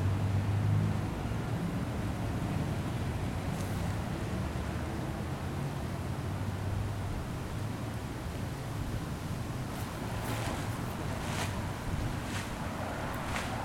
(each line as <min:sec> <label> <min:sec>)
0:00.0 traffic 0:13.6
0:09.8 Leaf blower 0:13.6